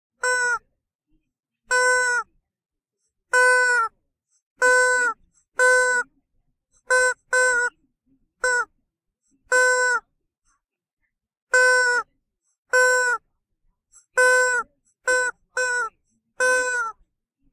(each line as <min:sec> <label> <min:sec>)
0:00.2 Squeaky toy 0:00.6
0:01.7 Squeaky toy 0:02.3
0:03.3 Squeaky toy 0:03.9
0:04.6 Squeaky toy 0:06.1
0:06.8 Squeaky toy 0:07.8
0:08.4 Squeaky toy 0:08.7
0:09.5 Squeaky toy 0:10.0
0:11.5 Squeaky toy 0:12.1
0:12.7 Squeaky toy 0:13.2
0:14.0 Squeaky toy 0:17.0